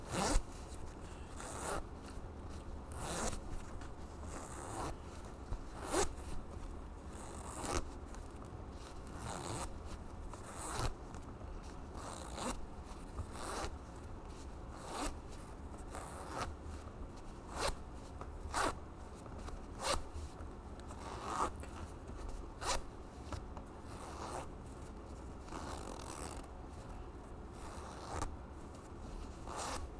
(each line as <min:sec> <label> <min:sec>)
0:00.1 Jeans zipper zips 0:00.4
0:01.4 Jeans zipper zips 0:01.8
0:02.9 Jeans zipper zips 0:03.4